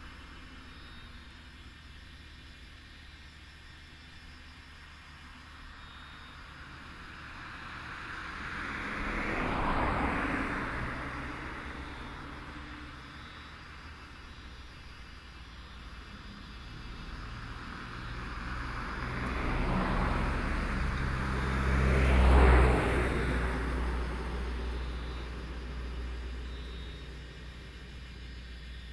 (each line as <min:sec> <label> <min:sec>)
0:00.0 Cicadas sound 0:28.9
0:06.6 Traffic Sound 0:28.9